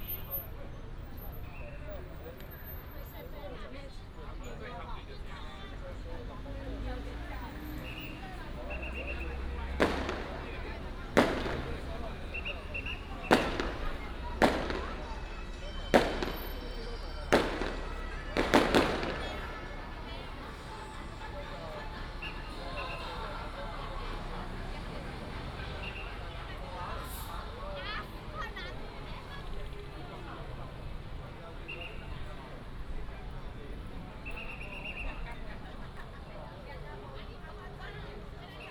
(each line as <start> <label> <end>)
0.0 Many people gathered at the intersection 38.7
0.0 Traffic sound 38.7
6.6 Firecrackers 32.9
7.1 fireworks 23.3